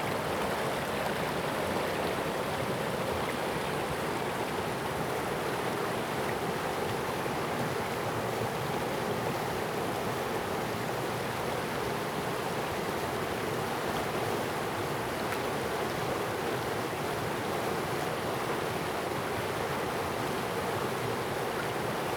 0.0s Brook 22.1s

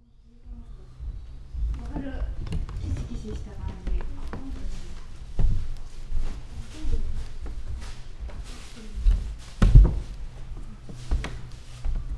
0.4s wooden floor 12.1s

